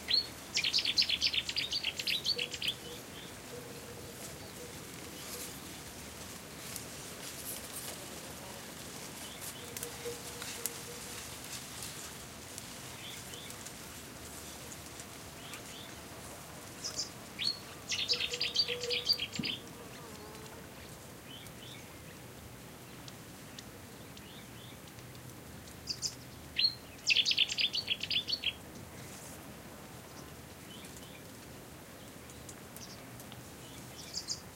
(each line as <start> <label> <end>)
16.9 bird call 19.6